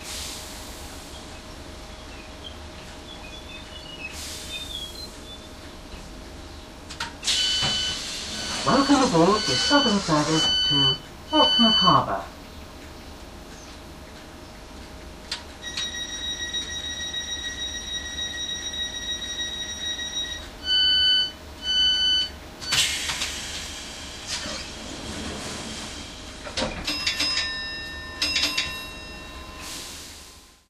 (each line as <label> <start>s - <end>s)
doors of a train opening and closing 0.0s - 12.8s
Announcement 7.3s - 12.4s
doors of a train opening and closing 15.2s - 30.6s